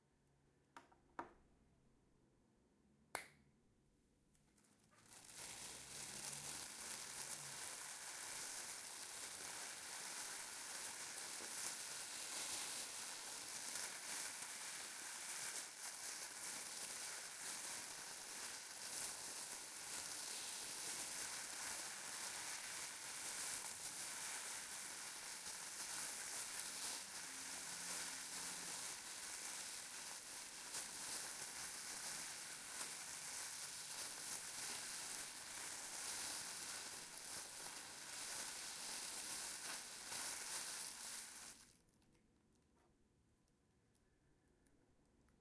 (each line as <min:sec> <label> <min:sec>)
0:04.5 plastic bag being fumbled 0:41.8